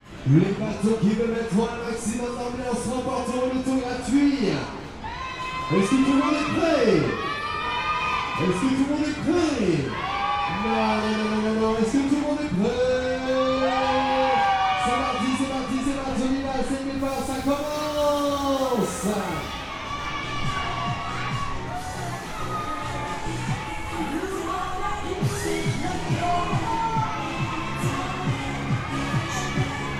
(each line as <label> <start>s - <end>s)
crowd 0.0s - 29.9s
Kids and teen-agers enjoying a fairground ride 13.0s - 29.9s
fairground ride 17.0s - 20.1s
music 17.0s - 29.9s